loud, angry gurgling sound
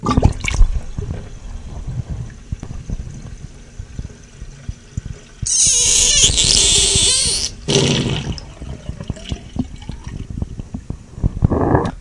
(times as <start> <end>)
5.5 9.4